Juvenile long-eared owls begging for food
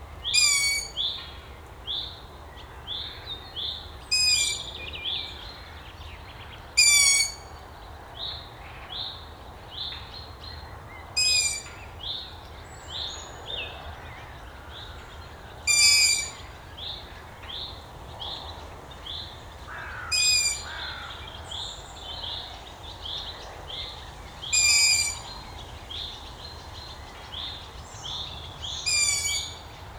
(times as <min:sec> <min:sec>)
0:00.3 0:01.0, 0:06.8 0:07.4, 0:11.2 0:11.7, 0:15.6 0:16.6, 0:19.7 0:21.4, 0:24.4 0:26.3, 0:28.1 0:29.7